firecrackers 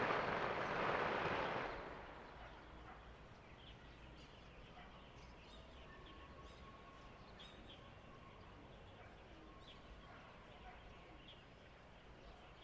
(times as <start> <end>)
0.0 2.3